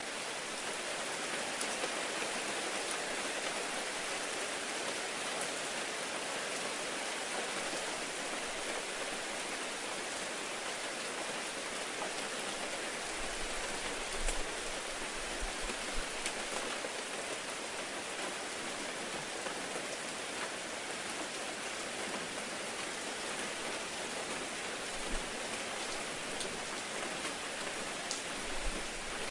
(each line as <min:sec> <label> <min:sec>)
0:00.0 Rain can be heard splattering on ashphalt and on tree leaves 0:29.3